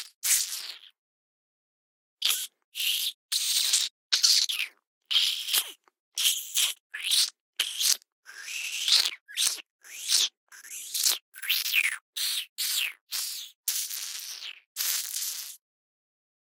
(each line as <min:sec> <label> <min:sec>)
0:00.0 rat creature vocalizations made using mouth movements 0:01.0
0:02.2 rat creature vocalizations made using mouth movements 0:15.6